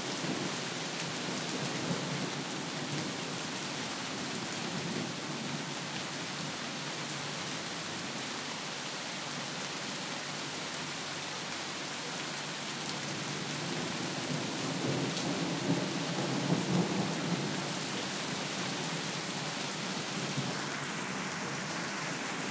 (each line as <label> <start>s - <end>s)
mild raining 0.0s - 22.5s